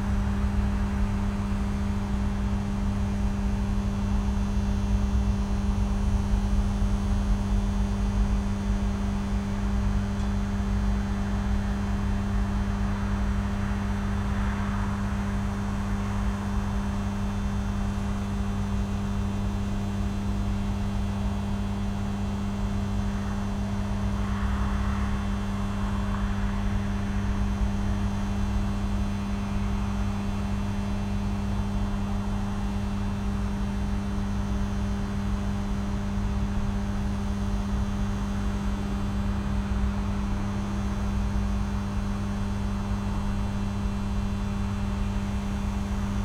Low buzz of electrical substation transformers 0:00.0 - 0:46.2

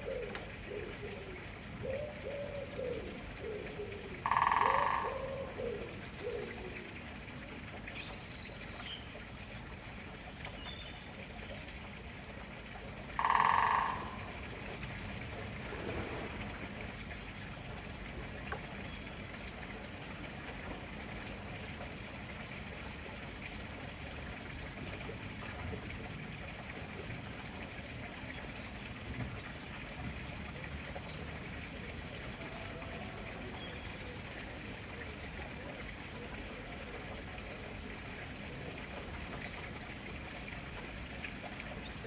running water sound is a neighbour's water feature 0:00.0 - 0:42.0
Woodpecker drumming 0:04.1 - 0:06.4
Woodpecker drumming 0:13.1 - 0:14.6

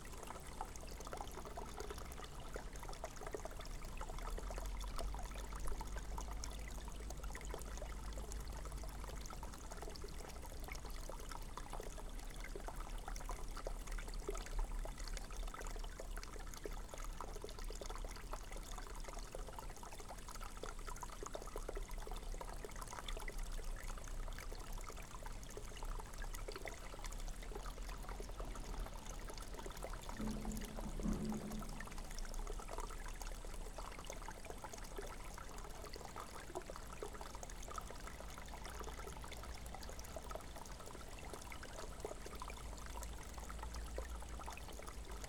holy spring 0:30.2 - 0:32.3

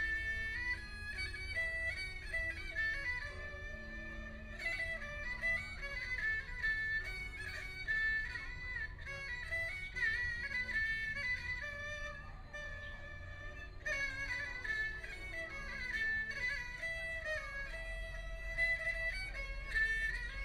Pull the erhu 0:00.0 - 0:20.4

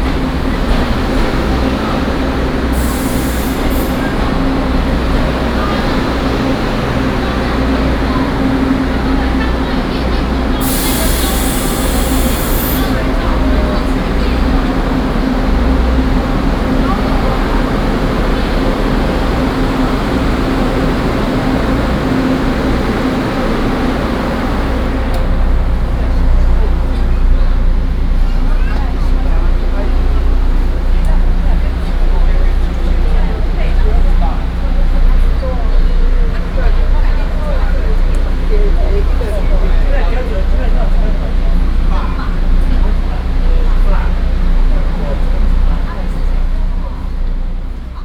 Construction noise 0:00.0 - 0:48.0
Station Message Broadcast 0:00.6 - 0:27.9

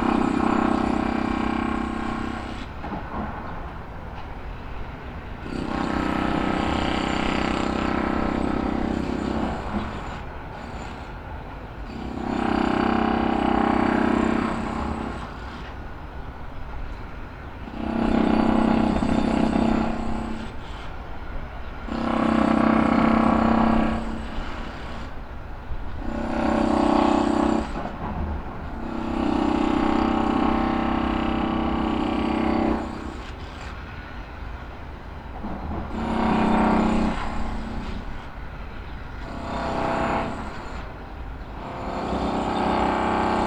surge of drill rattle 0:21.9 - 0:25.2
surge of drill rattle 0:26.0 - 0:28.0
surge of drill rattle 0:28.6 - 0:34.1
surge of drill rattle 0:35.9 - 0:38.4
surge of drill rattle 0:39.2 - 0:41.0

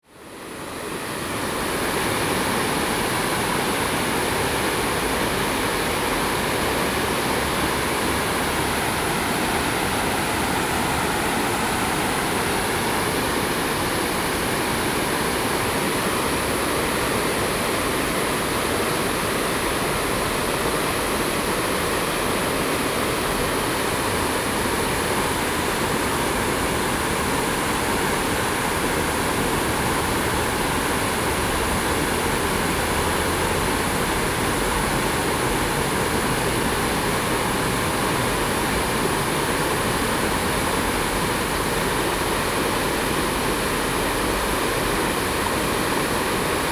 water 0:00.0 - 0:46.7

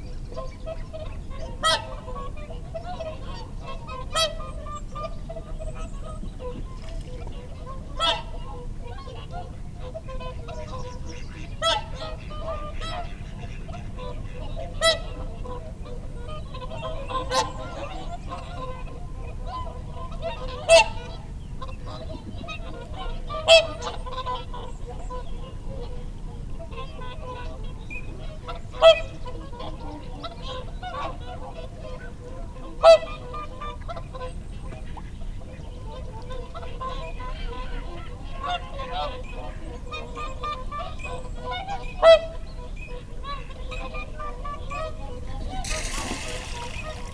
dunnock 0:45.6 - 0:47.1
teal 0:45.6 - 0:47.1

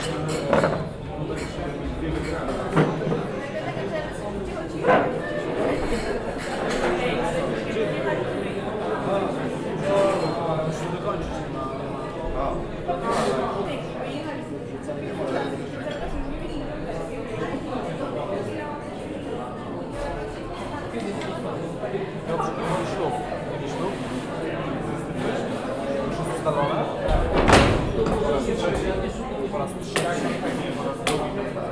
busy restaurant 0:00.0 - 0:31.7

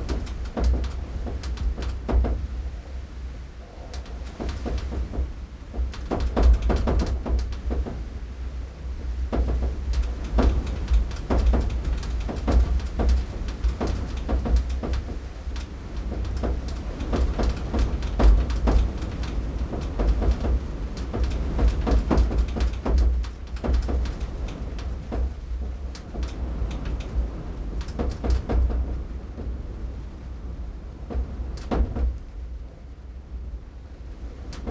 BLOWING IN THE WIND 0:00.0 - 0:34.7

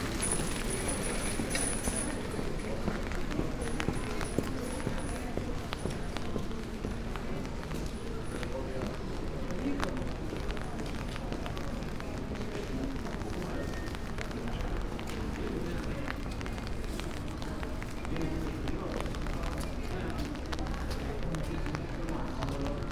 walking downtown streets 0:00.0 - 0:22.9

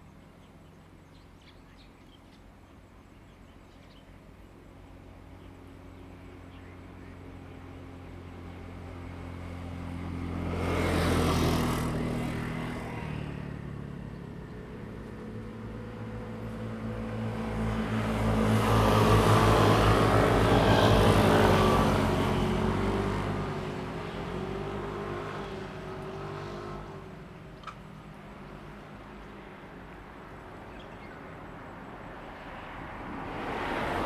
traffic sound 0:07.1 - 0:34.0

